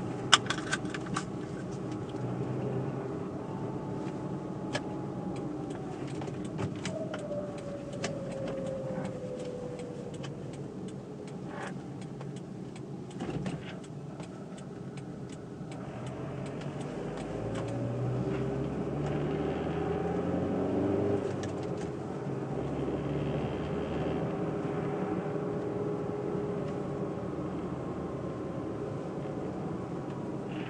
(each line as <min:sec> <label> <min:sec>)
0:15.6 Car starts and drives off 0:25.7